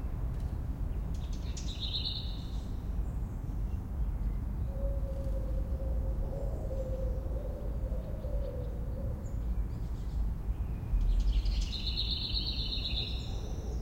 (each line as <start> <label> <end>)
7.9 Black Redstart 13.8